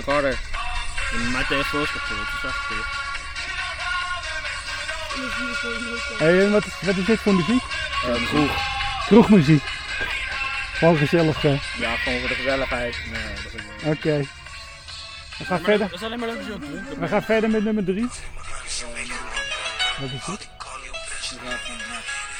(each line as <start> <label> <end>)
0.0 music (on their mobilephones) 22.3
0.0 talk with teenagers 22.3